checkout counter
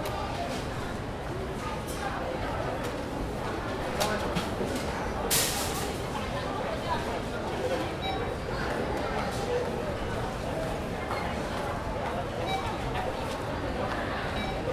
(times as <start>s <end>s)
3.4s 14.7s